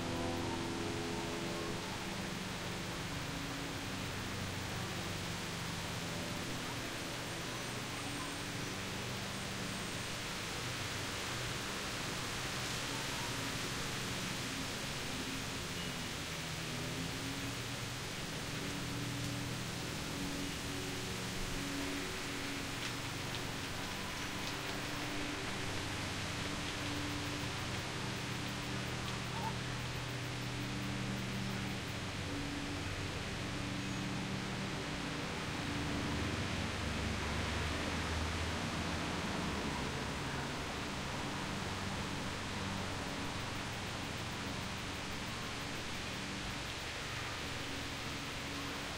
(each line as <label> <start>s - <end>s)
leaves sing through the trees 0.0s - 48.9s